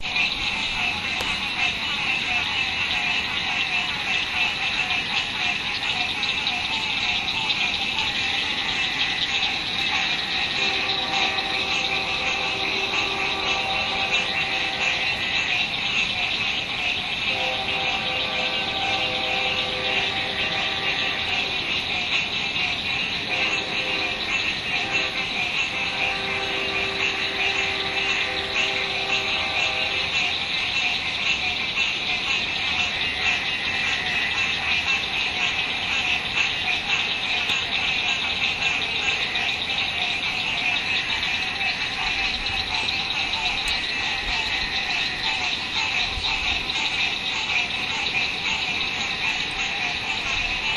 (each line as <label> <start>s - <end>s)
frogs croaking 0.0s - 50.7s